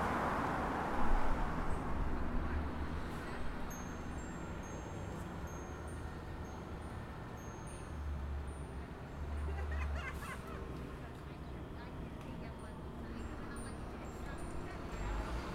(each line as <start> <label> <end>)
3.6 Wind Chimes 9.4